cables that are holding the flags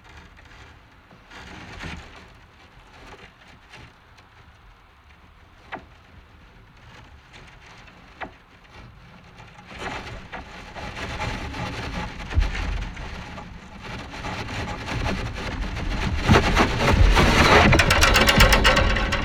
9.7s 19.2s

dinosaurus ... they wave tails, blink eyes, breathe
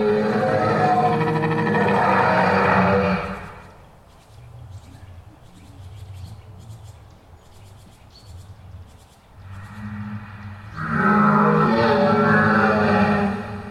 9.4s 13.7s

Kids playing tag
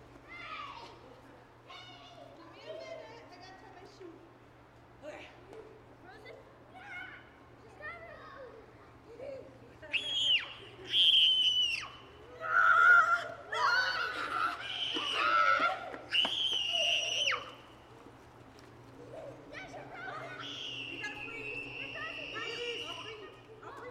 6.8s 23.9s

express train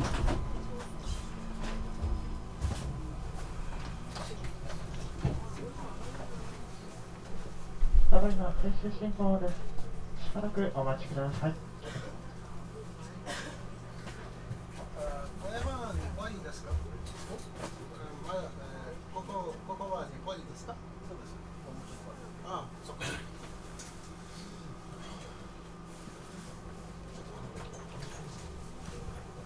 0.0s 13.0s

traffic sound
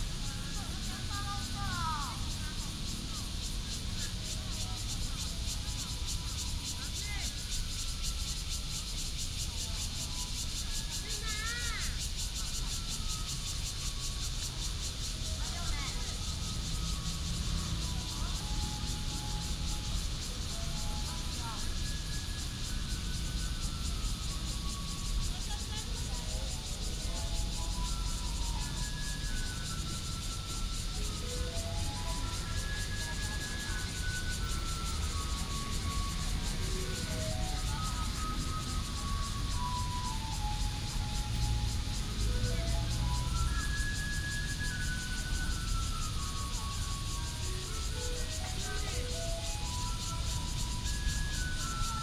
14.4s 51.9s

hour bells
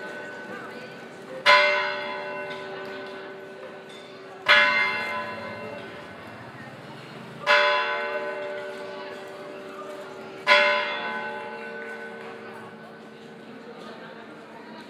1.4s 12.8s

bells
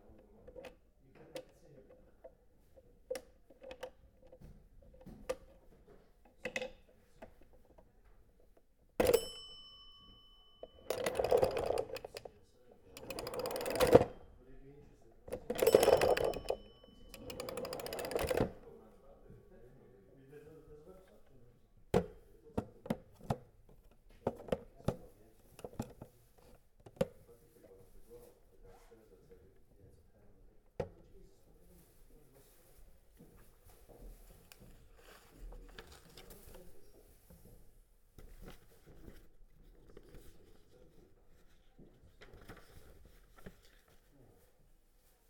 9.0s 11.5s

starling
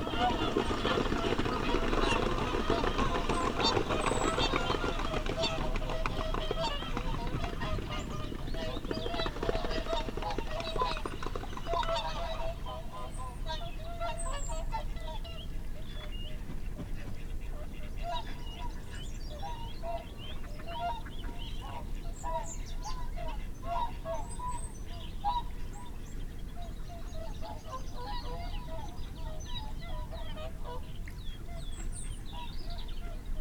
0.0s 12.2s

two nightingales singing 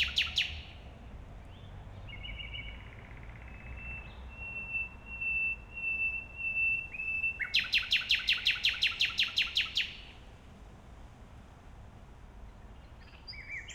0.0s 0.8s, 1.6s 10.2s, 12.8s 13.7s

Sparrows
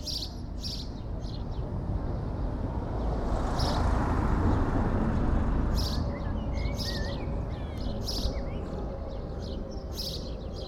0.0s 1.6s, 5.7s 10.6s

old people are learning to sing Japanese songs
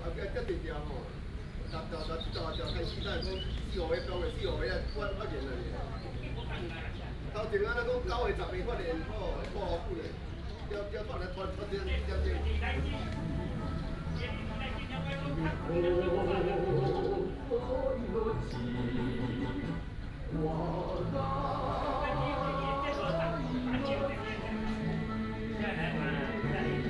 10.8s 26.8s

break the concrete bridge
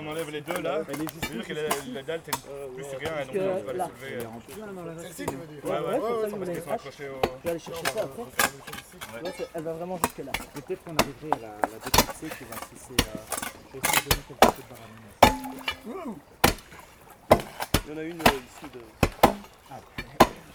11.7s 20.5s

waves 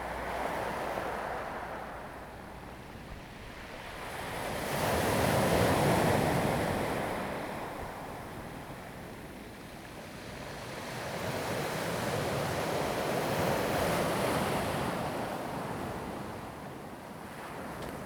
10.3s 18.0s

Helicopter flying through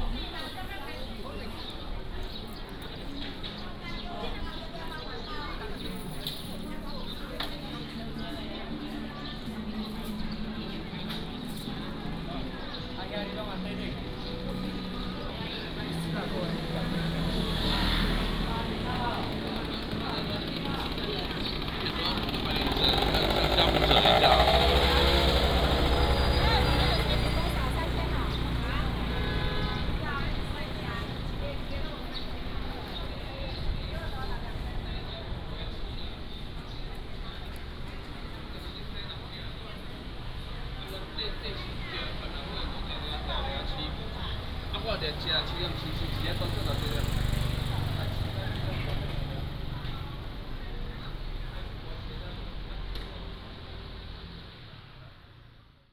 18.3s 29.1s

